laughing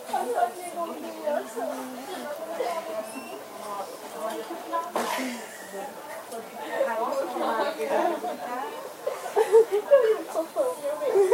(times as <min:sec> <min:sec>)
0:09.0 0:11.3